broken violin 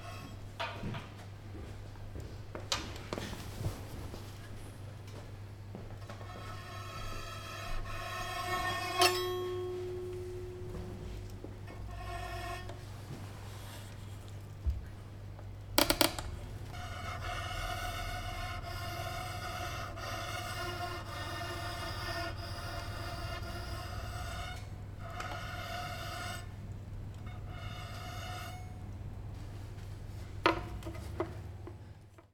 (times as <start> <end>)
6.2 13.9, 15.8 29.0